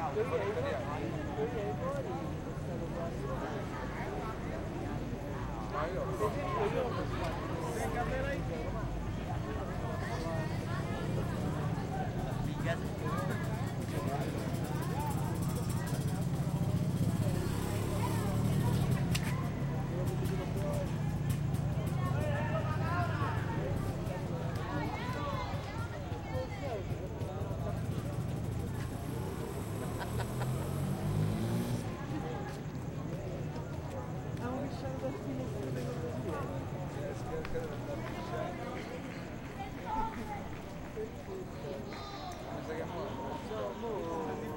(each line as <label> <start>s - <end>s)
distant traffic hum 6.8s - 44.5s